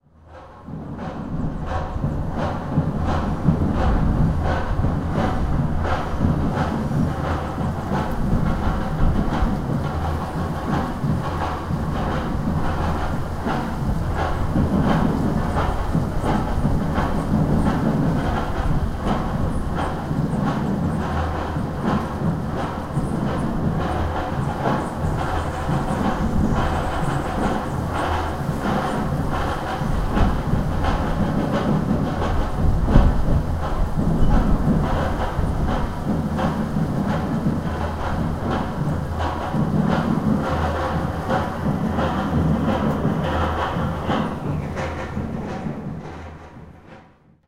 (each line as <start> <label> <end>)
0.2 distant drumming 47.1